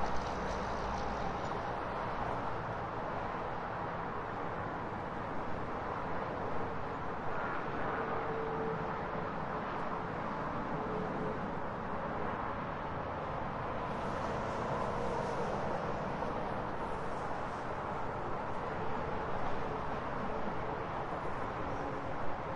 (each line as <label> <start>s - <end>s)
Car 0.0s - 22.5s
highway 0.0s - 22.5s